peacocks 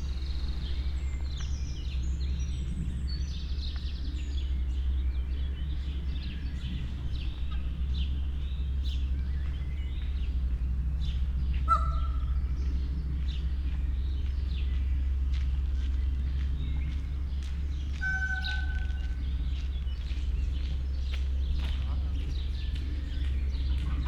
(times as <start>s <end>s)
5.8s 24.0s